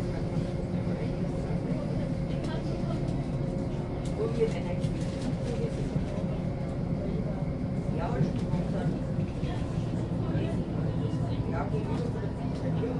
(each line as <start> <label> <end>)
0.0 train 12.9